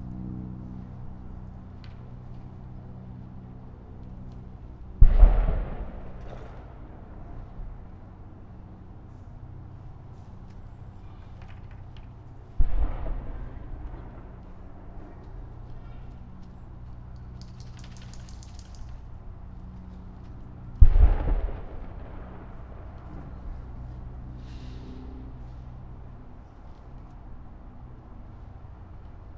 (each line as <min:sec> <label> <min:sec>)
0:05.0 cannon shots 0:07.0
0:12.6 cannon shots 0:14.3
0:20.8 cannon shots 0:22.8